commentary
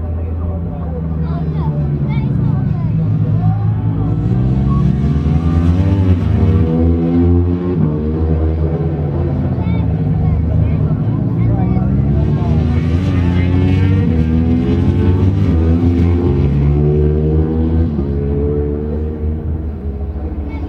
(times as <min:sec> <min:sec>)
0:08.8 0:20.6